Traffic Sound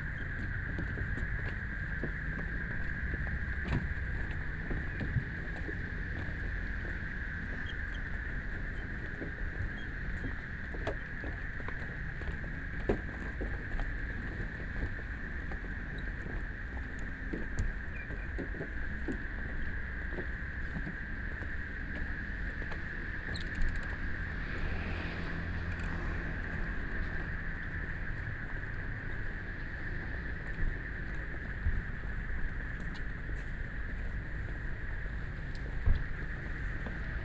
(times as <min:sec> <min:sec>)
0:21.4 0:37.2